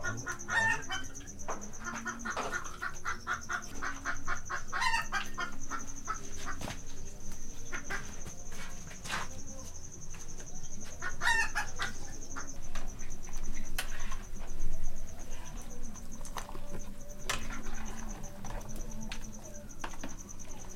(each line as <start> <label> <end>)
0.0 chicken 14.5
0.0 cricket 20.7
0.0 voices 20.7